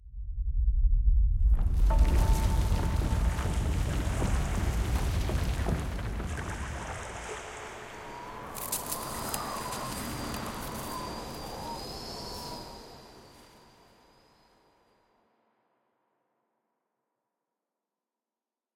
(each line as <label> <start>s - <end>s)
howling wind 0.0s - 14.9s
ground quakes 1.4s - 12.4s
footsteps 1.7s - 7.6s
water flows 1.8s - 13.8s
ice cracks beneath your feet 8.5s - 10.5s